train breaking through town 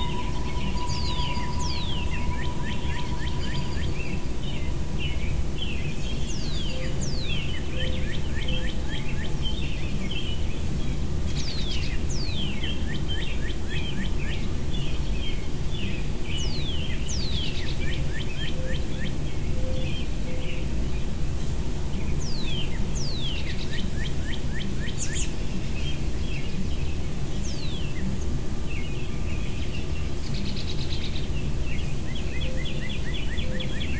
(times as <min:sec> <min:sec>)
0:00.0 0:07.7